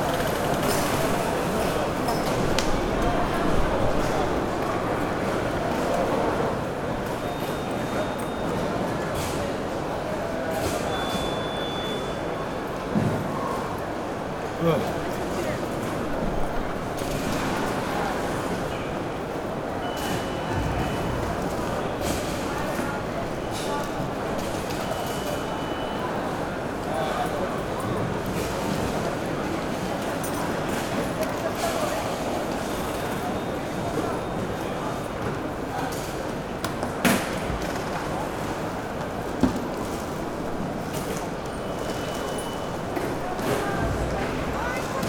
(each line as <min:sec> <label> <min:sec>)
0:10.4 safety checks at the gate 0:12.4
0:19.8 safety checks at the gate 0:29.1
0:40.8 safety checks at the gate 0:45.0